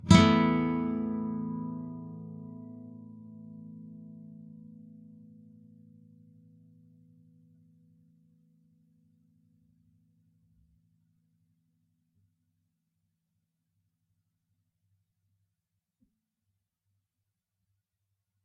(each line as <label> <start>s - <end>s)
nylon guitar 0.0s - 8.2s